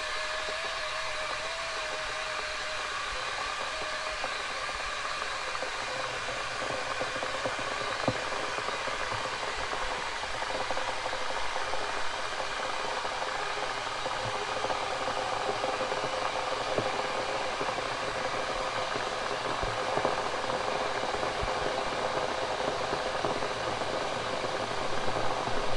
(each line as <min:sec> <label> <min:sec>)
0:00.0 Kettle Boiling 0:25.7